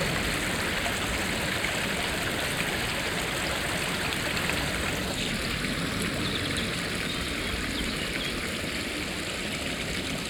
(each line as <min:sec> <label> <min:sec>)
0:00.0 small stream 0:10.2